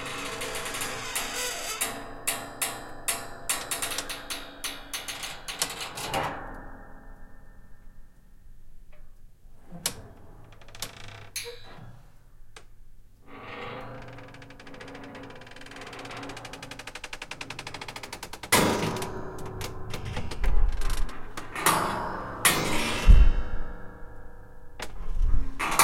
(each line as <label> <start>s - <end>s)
Attic door creaking 0.0s - 6.6s
Attic door creaking 9.6s - 25.8s